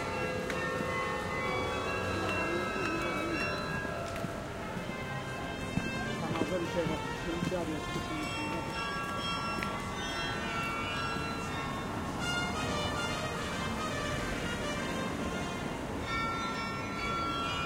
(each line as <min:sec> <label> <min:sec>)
0:00.0 carillon 0:13.5
0:04.3 trumpet played from the nearby streets 0:09.3
0:12.0 trumpet played from the nearby streets 0:17.6